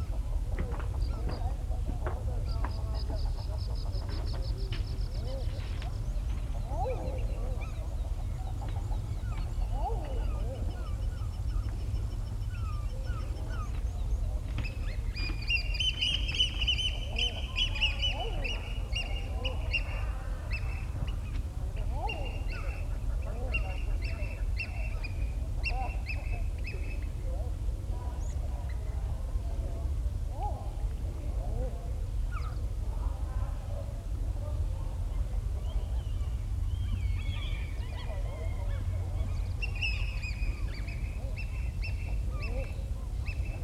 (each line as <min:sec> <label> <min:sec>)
0:00.0 oystercatchers 0:29.6
0:00.0 cormorants 0:43.6
0:34.5 oystercatchers 0:43.6